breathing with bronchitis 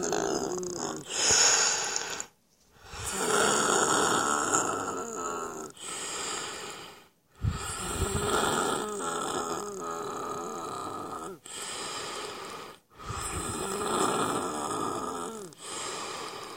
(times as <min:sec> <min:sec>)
0:01.0 0:04.3, 0:05.7 0:08.8, 0:11.4 0:14.7, 0:15.4 0:16.5